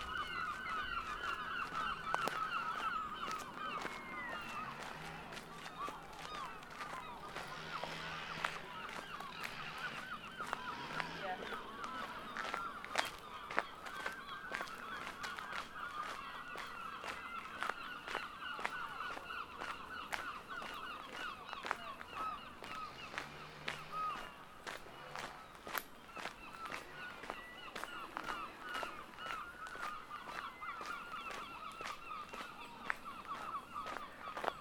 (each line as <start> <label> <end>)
0.0 birds 34.6
0.0 walking 34.6
3.8 light aircraft 12.7
3.8 bicycles 13.6